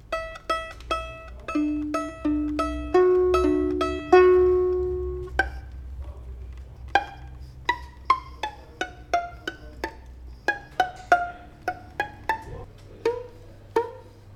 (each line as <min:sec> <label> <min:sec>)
0:00.0 broken violin 0:14.3